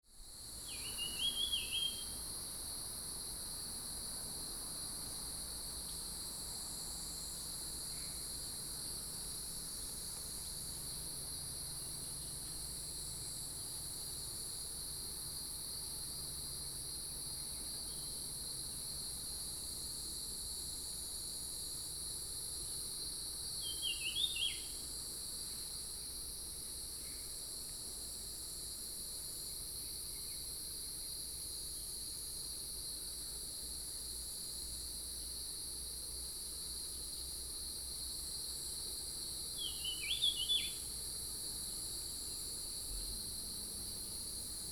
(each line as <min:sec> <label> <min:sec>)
0:00.3 Cicadas cry 0:32.1
0:38.0 Cicadas cry 0:44.7